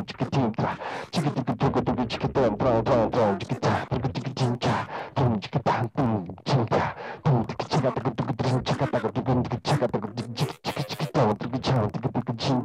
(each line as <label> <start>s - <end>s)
Vocal improvisation 0.0s - 12.6s